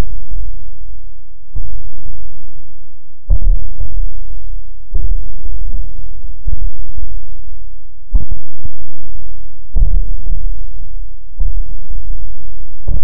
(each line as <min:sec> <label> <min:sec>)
0:01.6 Rhythmic Suspense Drums 0:02.3
0:03.3 Rhythmic Suspense Drums 0:04.3
0:04.9 Rhythmic Suspense Drums 0:07.3
0:08.2 Rhythmic Suspense Drums 0:10.7
0:11.3 Rhythmic Suspense Drums 0:13.0